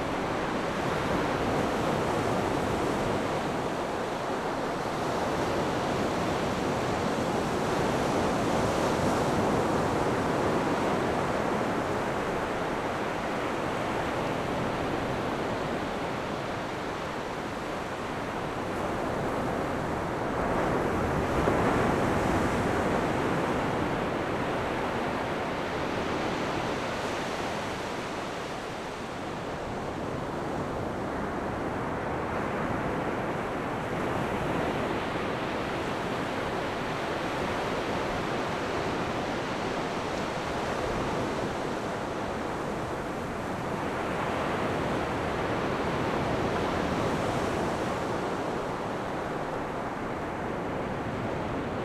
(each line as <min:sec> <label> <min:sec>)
0:00.0 waves 0:51.8